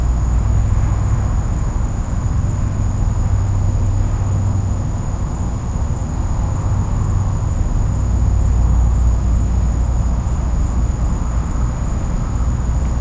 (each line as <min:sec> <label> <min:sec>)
0:00.0 insects 0:13.0